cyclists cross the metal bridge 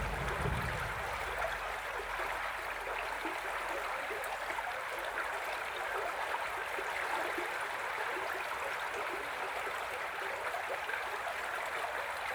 0.0 1.6

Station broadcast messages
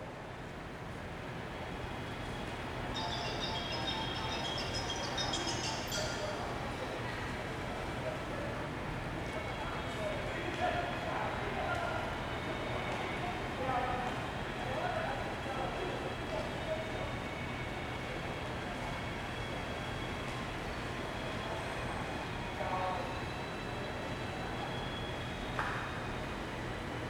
2.8 6.6

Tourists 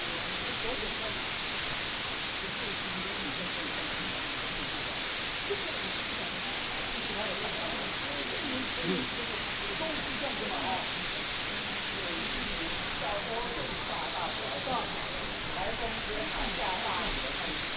6.4 17.7

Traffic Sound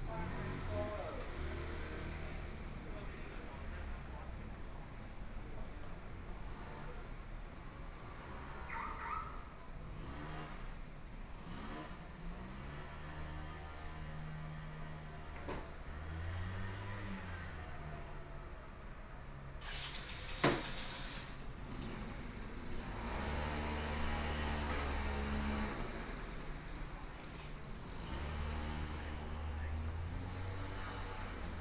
12.4 31.6

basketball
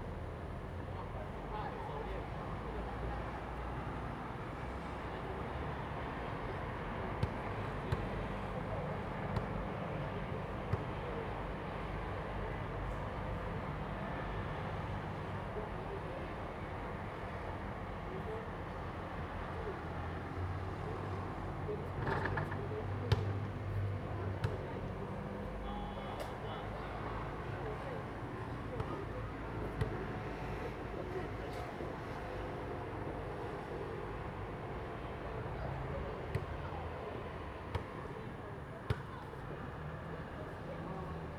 7.2 8.1, 22.0 23.4, 36.3 36.6, 38.9 39.3

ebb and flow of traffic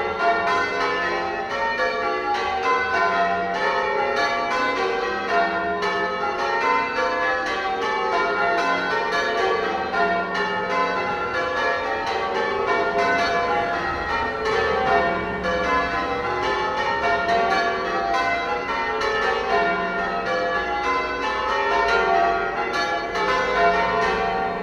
13.7 17.2

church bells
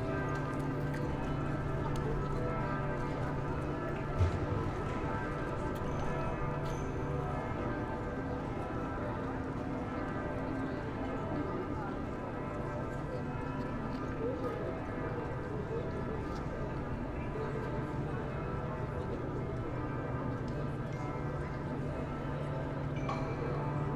0.0 16.0

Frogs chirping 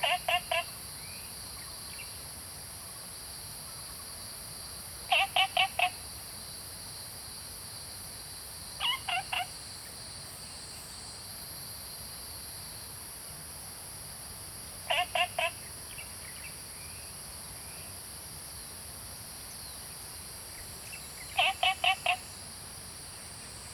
0.0 1.3, 5.1 6.0, 8.8 9.6, 14.8 16.6, 20.5 22.5

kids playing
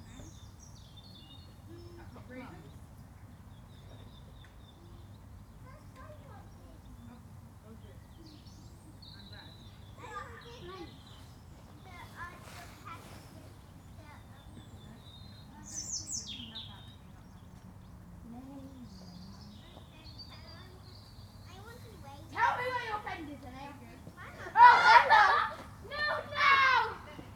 8.4 17.0, 19.5 27.3

